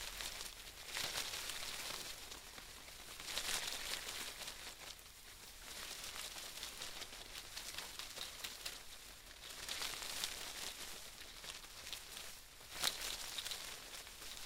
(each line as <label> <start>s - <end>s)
leaf rustles quick from animals running 0.0s - 14.4s